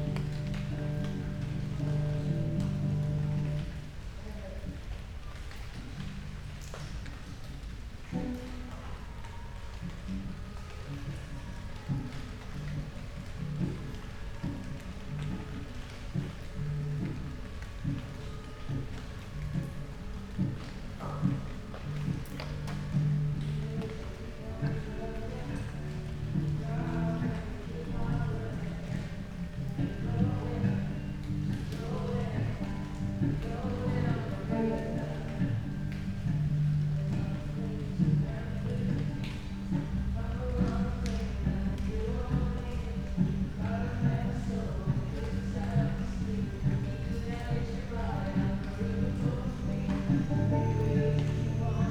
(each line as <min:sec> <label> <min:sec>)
0:00.0 raindrops hitting leaves 0:51.9